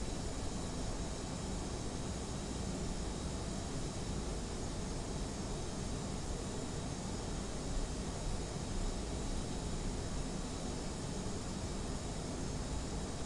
very noisy air-conditioning hub 0:00.0 - 0:13.2

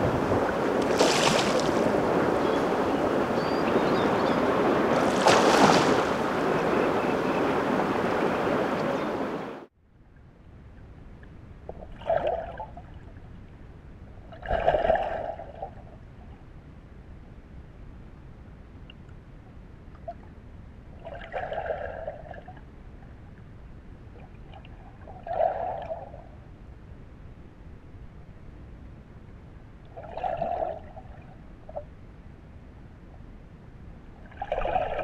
Asp attacks riverside and underwater 0:00.0 - 0:03.4
Asp attacks riverside and underwater 0:04.6 - 0:06.6

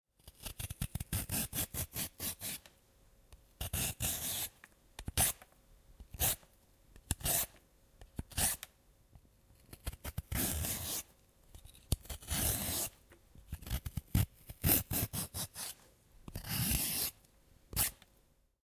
peeler, peeling a carrot 0:00.2 - 0:02.7
peeler, peeling a carrot 0:03.6 - 0:05.4
peeler, peeling a carrot 0:06.1 - 0:06.4
peeler, peeling a carrot 0:07.0 - 0:07.6
peeler, peeling a carrot 0:08.2 - 0:08.7
peeler, peeling a carrot 0:09.6 - 0:18.1

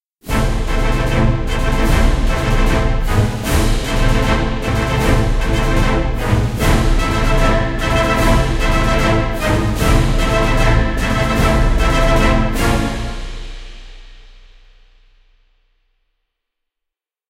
trombone 0:00.2 - 0:13.9
Trumpet 0:00.2 - 0:14.1
french horns 0:00.2 - 0:14.1
bass drum 0:00.2 - 0:16.0
timpani 0:00.2 - 0:16.0
cymbal 0:00.2 - 0:16.2
cello 0:00.3 - 0:13.4
snare drum 0:00.3 - 0:15.3

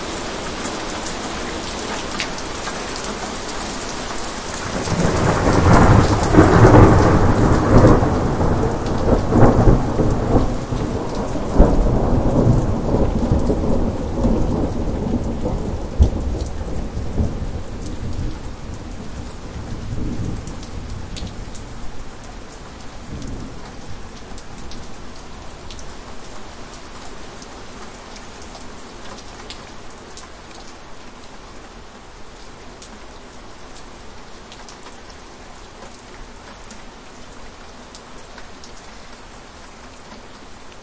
Heavy rain 0:00.0 - 0:40.8
blast of thunder that 'rushes' away and fades 0:04.6 - 0:21.4

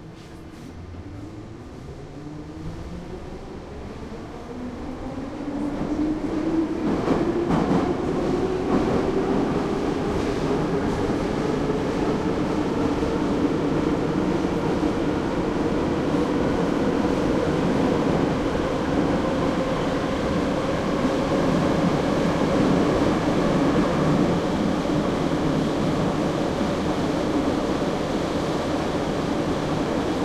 Subway train travels from station to station 0:00.0 - 0:30.2

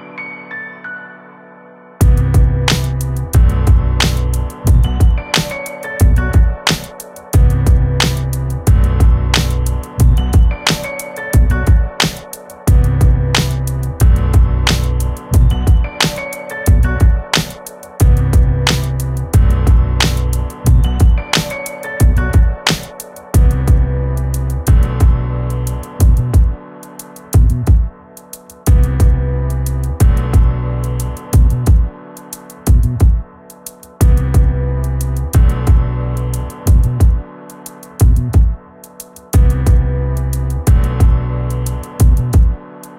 piano 0:00.0 - 0:42.9
bass 0:02.0 - 0:22.8
drum 0:02.0 - 0:23.9
bass 0:23.4 - 0:26.6
bass 0:27.4 - 0:27.9
bass 0:28.7 - 0:32.0
drum 0:32.7 - 0:33.2
bass 0:32.7 - 0:33.2
bass 0:34.0 - 0:37.3
bass 0:38.0 - 0:38.6
bass 0:39.4 - 0:42.6

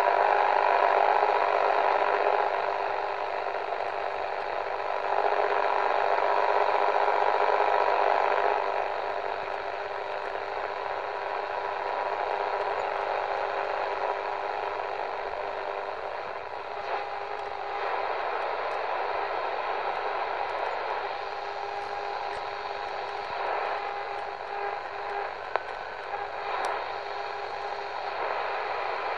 Medium wave radio static 0:00.0 - 0:29.1

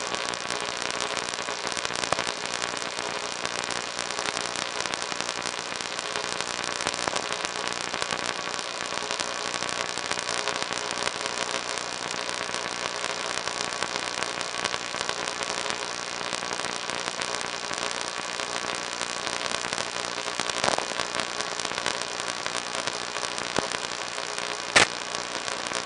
audible signal in VLF band 0:00.0 - 0:25.8

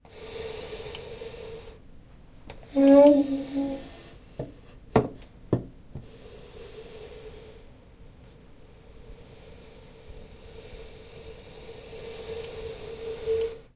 chair moving 0:02.7 - 0:03.9

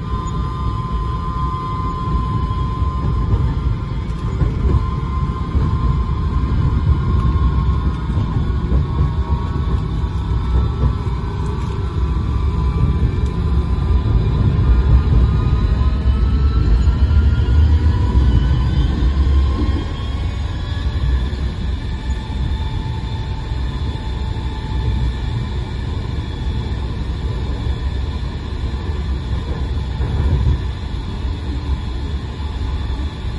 sounds of passengers 0:00.0 - 0:33.3
tram 0:00.0 - 0:33.3

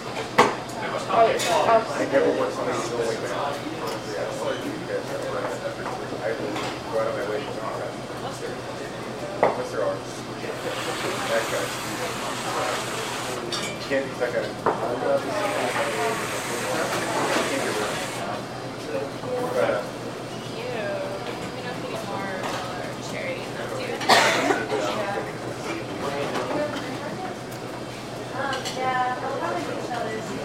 patrons conversing to each other 0:00.8 - 0:30.4

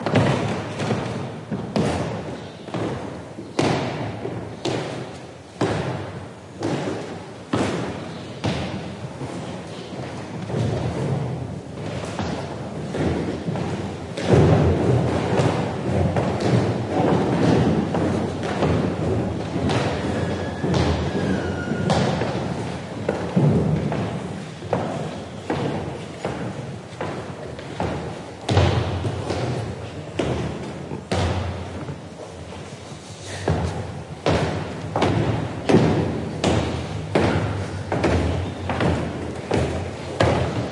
going down old wooden stairs 0:00.0 - 0:40.7

